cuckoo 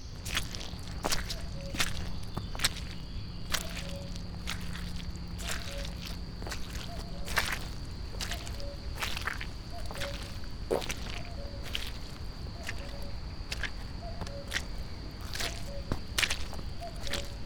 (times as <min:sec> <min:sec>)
0:01.3 0:02.5, 0:05.4 0:12.0, 0:14.0 0:17.4